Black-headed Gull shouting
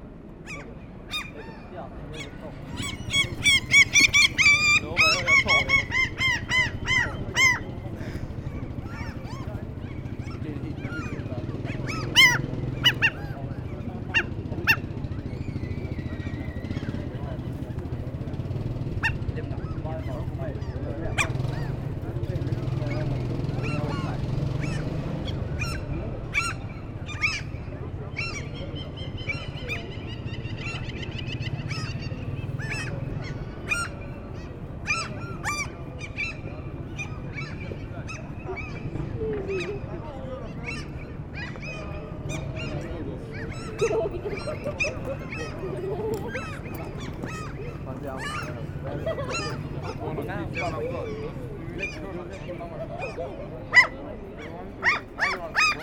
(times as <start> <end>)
2.2 7.7, 10.9 13.4